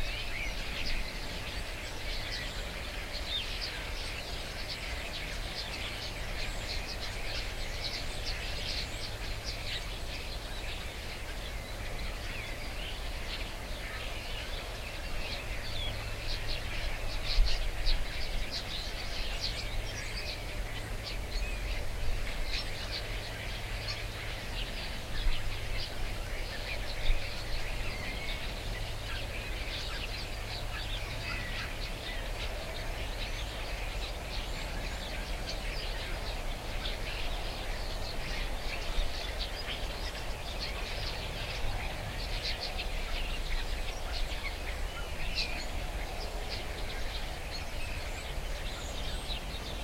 lot of starlings, sitting in trees 0.0 - 49.8

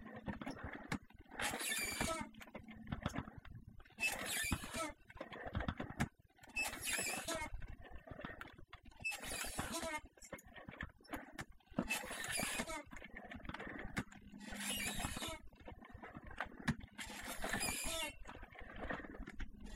working out on an old exercise devise 0.0 - 19.7

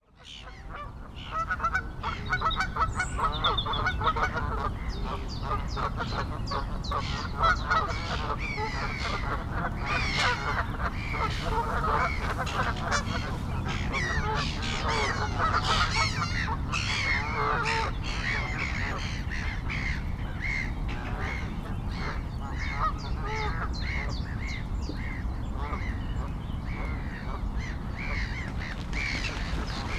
birds 0.1 - 29.9

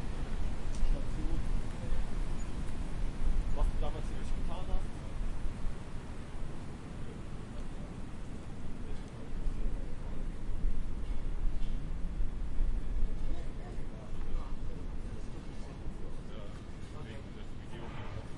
wind noise 0.0 - 15.4
street noise 0.0 - 18.3

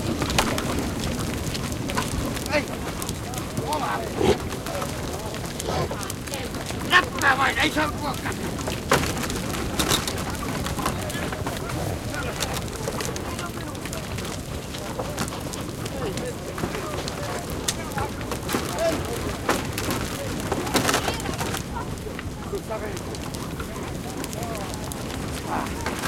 big herd of reindeer in a fencing 0.0 - 26.0
human voices 0.0 - 26.0
grunting 3.8 - 6.1

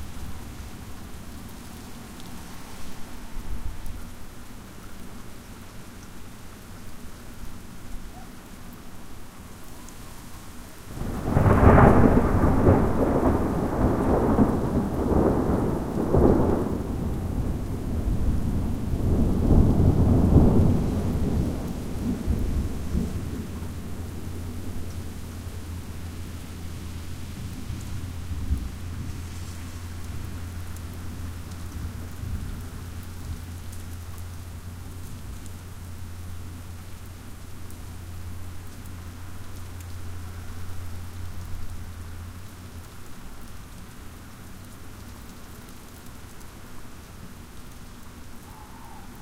rain 0.0 - 49.2
thunder 11.0 - 25.2

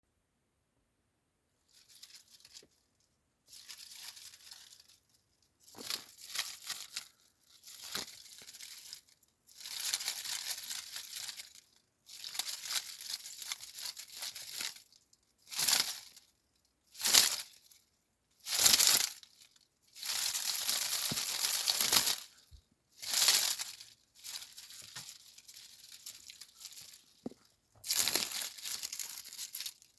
Dry Leaf Rustling 1.7 - 29.9

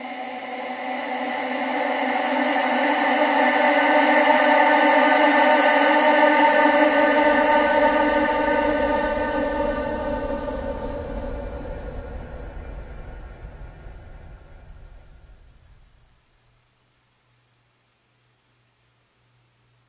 Scream 6.5 - 16.2

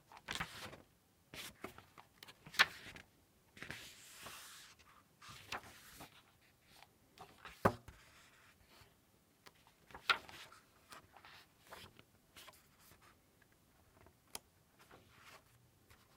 page flips 0.1 - 0.8
page turns 0.1 - 0.8
page turns 1.4 - 3.0
page flips 3.6 - 8.2
page turns 3.6 - 8.4
page flips 9.5 - 13.1
page turns 9.5 - 13.1

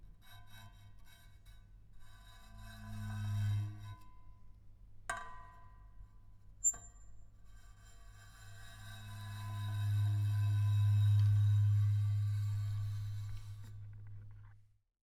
Bowing metal newspaper holder with cello bow 8.6 - 14.3

